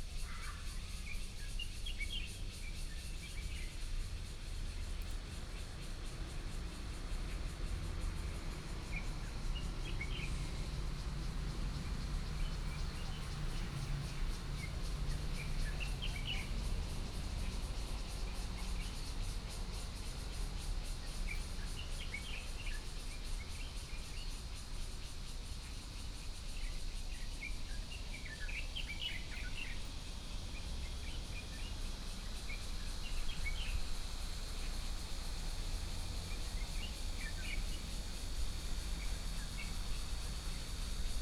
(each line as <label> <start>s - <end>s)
Cicadas 0.0s - 41.2s
Traffic 3.2s - 41.2s
Trains traveling through 4.3s - 21.7s
Birdsong 7.2s - 20.0s
Birdsong 25.2s - 40.8s